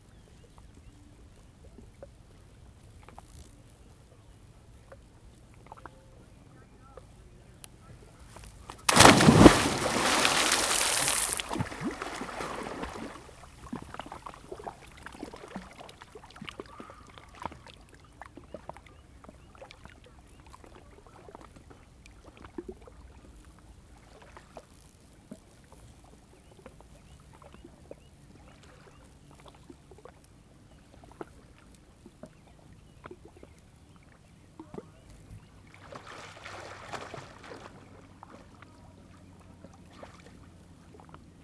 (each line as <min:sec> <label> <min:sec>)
0:00.0 Light, warm wind 0:21.0
0:00.0 Powerboats 0:41.4
0:08.0 Dive 0:20.0
0:08.1 Swim 0:24.8
0:26.4 Swim 0:41.4